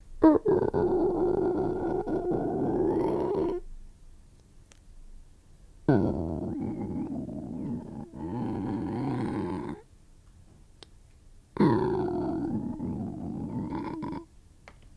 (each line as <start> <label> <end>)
0.2 stomach growl 3.6
5.9 stomach growl 9.8
11.6 stomach growl 14.3